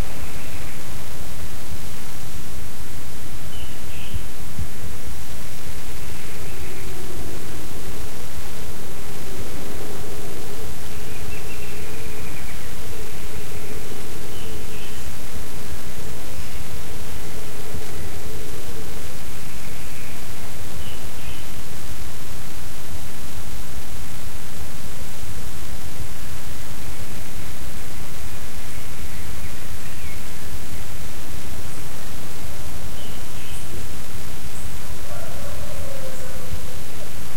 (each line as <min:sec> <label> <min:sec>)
0:00.0 Birds 0:02.2
0:00.0 wind 0:37.3
0:03.3 Birds 0:22.7
0:26.7 Birds 0:37.3